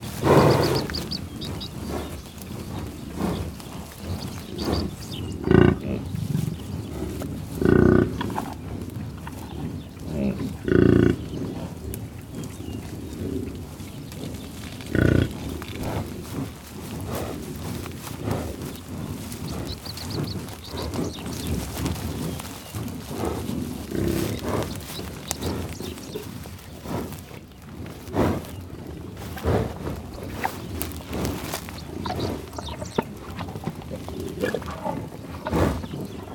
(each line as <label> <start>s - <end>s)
buffalos came to eat some food 0.0s - 36.3s